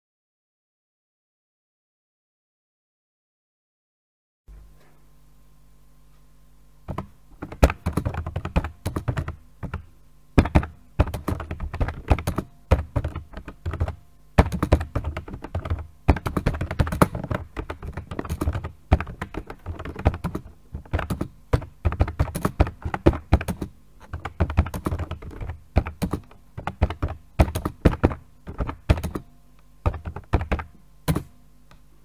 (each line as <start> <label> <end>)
6.9 KeyBoard Typing 31.3